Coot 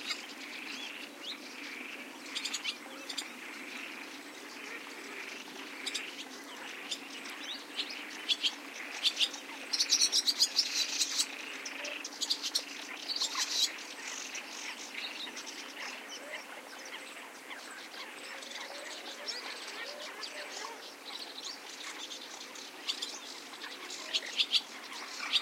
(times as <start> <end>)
15.8 22.0